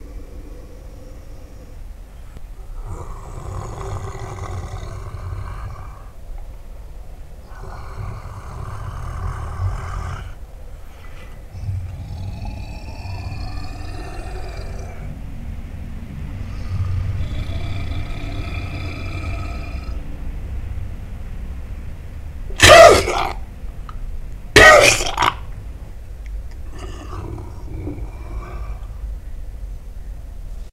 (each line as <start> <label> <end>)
0.0 Growl 6.2
7.4 Growl 15.2
16.4 Growl 20.1
22.6 Growl 23.5
22.6 Cough 23.4
24.6 Cough 25.4
24.6 Growl 25.5
26.6 Growl 29.1